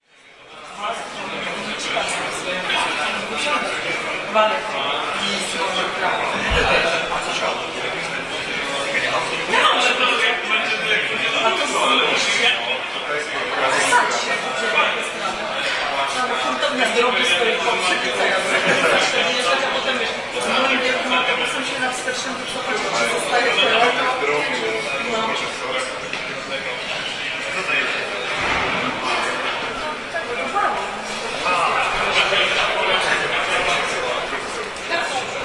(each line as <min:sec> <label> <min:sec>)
0:00.0 hubbub in front of lecture theatre 0:35.4